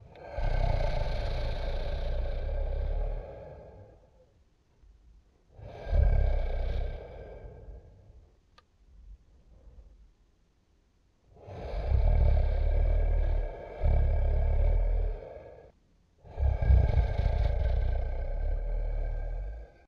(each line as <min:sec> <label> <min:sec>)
0:00.0 Lightweight growl of a dragon or monster 0:04.3
0:05.5 Lightweight growl of a dragon or monster 0:08.2
0:11.3 Lightweight growl of a dragon or monster 0:19.8